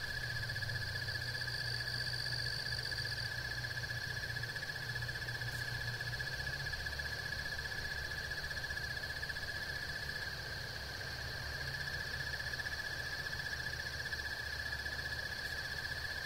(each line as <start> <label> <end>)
0.0 insects 16.2